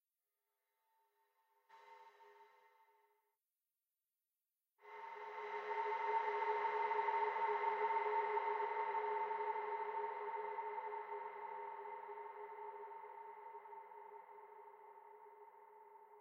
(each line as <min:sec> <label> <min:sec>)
0:04.8 outer space metallic sound 0:16.2